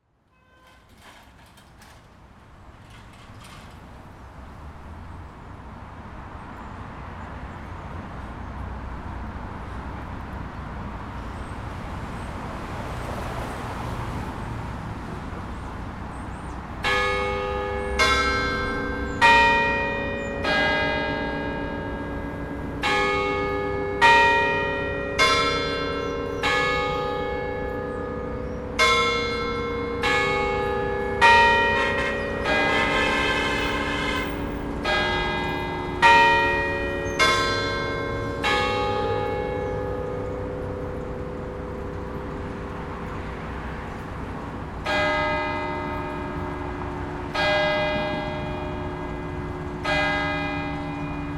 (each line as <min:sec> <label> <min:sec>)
0:00.0 local traffic 0:51.3
0:16.9 Bells signaling 6 o'clock 0:41.2